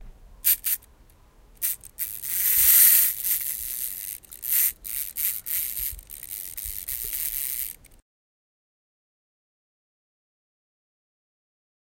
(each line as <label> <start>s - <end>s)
wind up a wind up toy 0.4s - 0.8s
wind up a wind up toy 1.6s - 8.0s